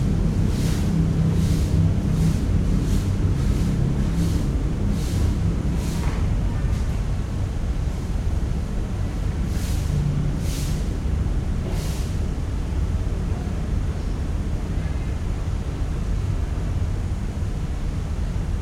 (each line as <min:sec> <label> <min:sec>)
0:00.0 sweeping the site floor with a broom 0:07.0
0:09.3 sweeping the site floor with a broom 0:12.3